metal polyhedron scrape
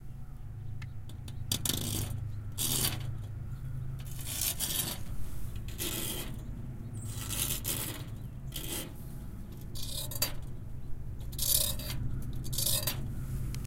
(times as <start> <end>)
1.5 3.1, 4.1 10.5, 11.3 13.5